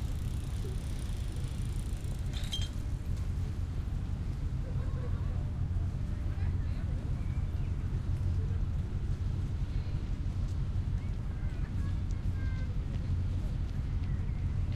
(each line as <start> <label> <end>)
4.3 people 14.7